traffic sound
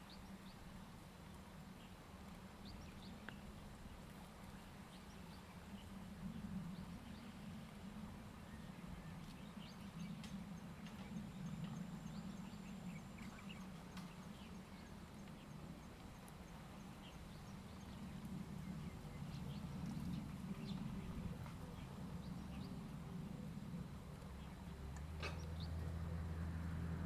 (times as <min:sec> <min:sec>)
0:21.3 0:27.0